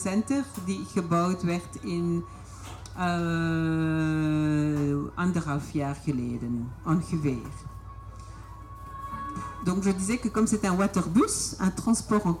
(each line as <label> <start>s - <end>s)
Waterbus on the canal 0.0s - 12.4s